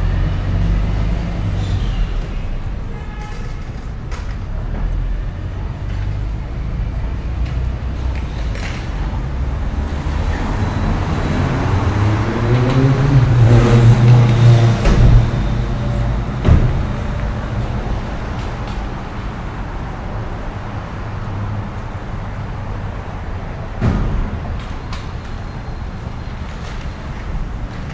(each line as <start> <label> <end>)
0.0 traffic 27.9